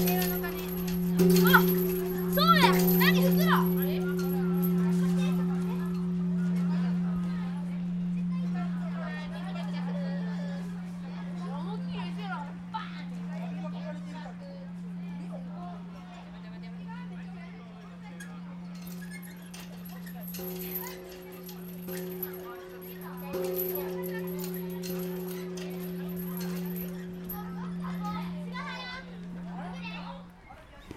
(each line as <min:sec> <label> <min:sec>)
0:00.0 Pupils ringing the peace bell 0:30.4